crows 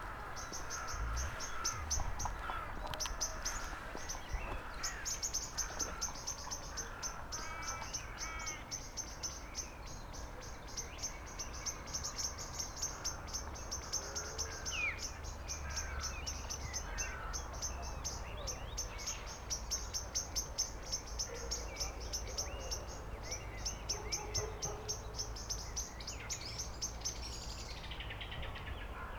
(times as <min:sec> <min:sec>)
0:00.0 0:08.7, 0:12.8 0:18.6, 0:28.9 0:29.1